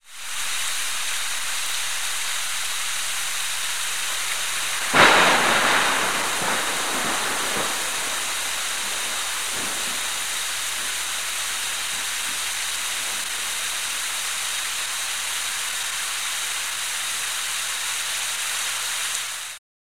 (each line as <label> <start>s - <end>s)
rain 0.0s - 19.6s
thunder 4.1s - 13.4s